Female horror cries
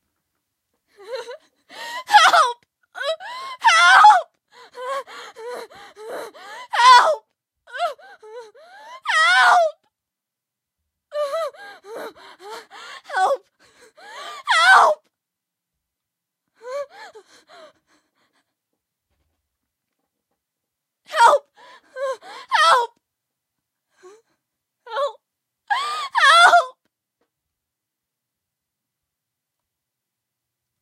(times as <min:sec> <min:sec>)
0:01.0 0:09.8, 0:11.1 0:15.0, 0:21.1 0:22.9, 0:24.9 0:26.8